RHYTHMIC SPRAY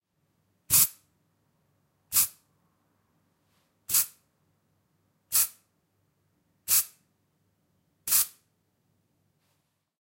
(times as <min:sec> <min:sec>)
0:00.7 0:01.0, 0:02.1 0:02.4, 0:03.9 0:04.2, 0:05.3 0:05.6, 0:06.7 0:07.0, 0:08.1 0:08.4